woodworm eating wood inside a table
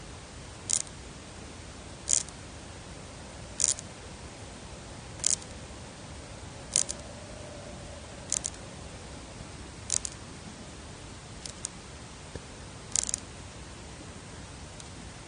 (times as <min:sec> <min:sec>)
0:00.6 0:01.0, 0:01.9 0:02.4, 0:03.4 0:04.0, 0:05.1 0:07.2, 0:08.2 0:08.7, 0:09.8 0:10.2, 0:11.4 0:11.8, 0:12.8 0:13.3